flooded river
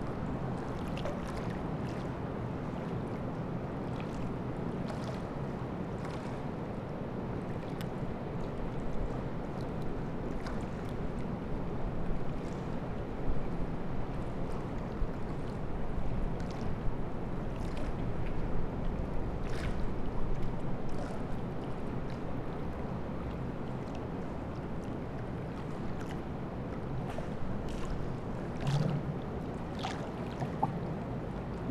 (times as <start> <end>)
15.5 31.7